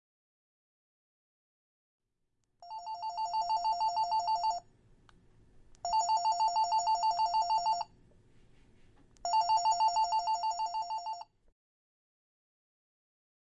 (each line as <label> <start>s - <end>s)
Telephone ringing 2.6s - 4.7s
Telephone ringing 5.8s - 7.9s
Telephone ringing 9.2s - 11.3s